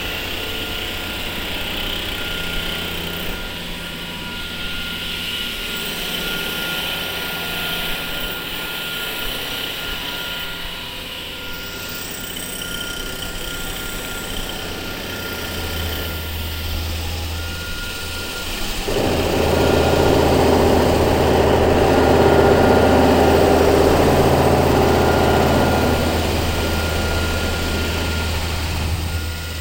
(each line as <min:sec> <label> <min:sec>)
0:18.6 Presslufthammer 0:29.6